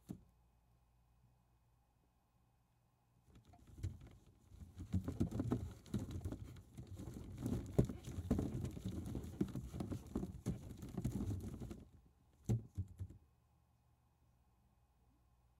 3.4s Stirring Baseballs Thump bump movement 13.2s

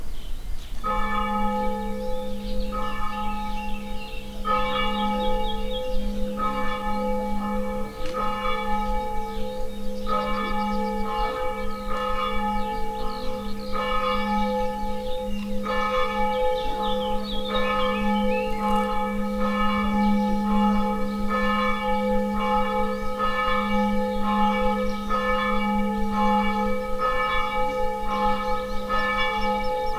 0.8s bells ringing 29.9s

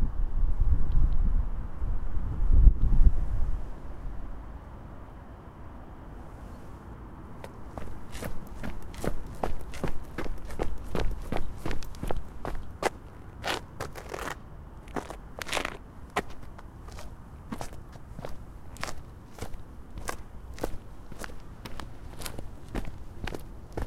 7.3s Walking on pavement with sport shoes 23.8s
7.7s running 13.0s

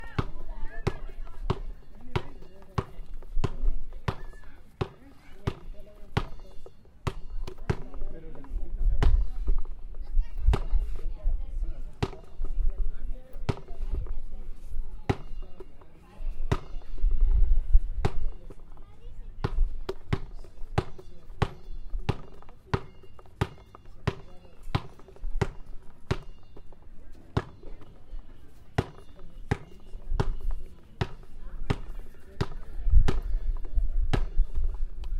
0.0s basketball 8.4s
13.4s basketball 13.8s
16.4s basketball 16.9s
18.0s basketball 18.8s
19.4s basketball 34.8s

